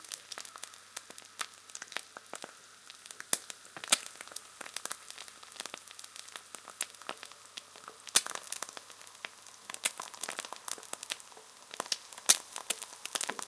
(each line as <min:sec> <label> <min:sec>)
0:00.0 Frying an egg 0:13.4